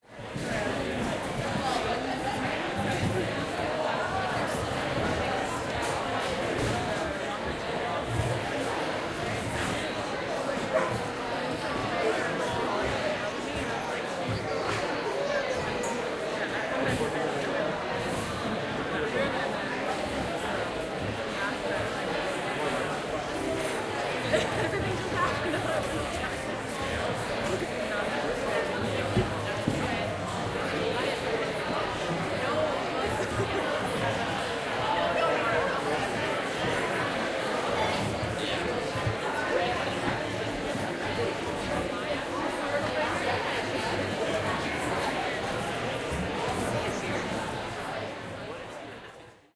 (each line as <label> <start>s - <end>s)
people talking 0.0s - 49.5s